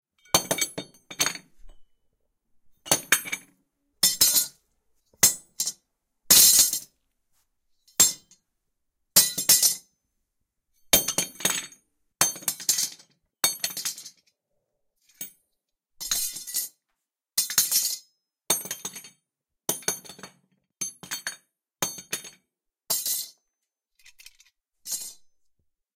0.2s Dropping metal tools on concrete 1.9s
2.9s Dropping metal tools on concrete 4.6s
5.2s Dropping metal tools on concrete 6.9s
9.2s Dropping metal tools on concrete 9.8s
17.4s Dropping metal tools on concrete 23.4s
24.0s Dropping metal tools on concrete 25.4s

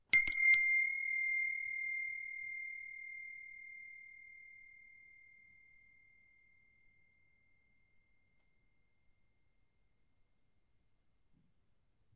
0.0s small brass bell 9.5s

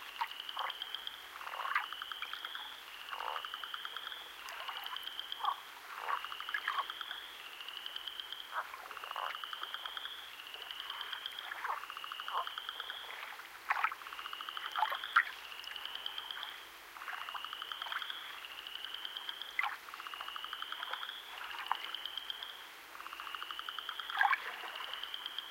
0.0s frogs (Spring Peepers) 25.5s
10.3s Gentle waves 20.1s
20.7s Gentle waves 23.3s
24.0s Gentle waves 25.5s

